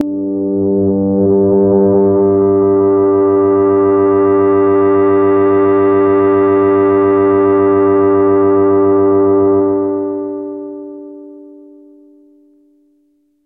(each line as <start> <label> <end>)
0.0 evolving pad type sound 12.2